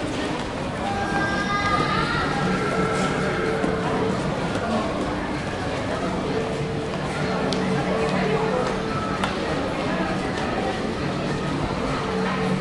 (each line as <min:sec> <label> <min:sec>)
0:00.0 people passing -by 0:12.6